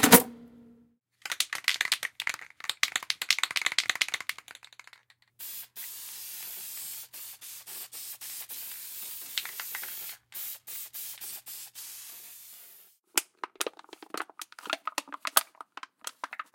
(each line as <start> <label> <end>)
1.2 Alumunium Can 16.5
3.3 Spray Paint 13.0